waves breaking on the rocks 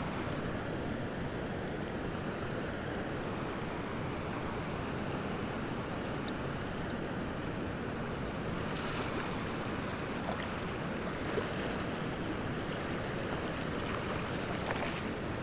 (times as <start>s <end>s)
8.4s 15.4s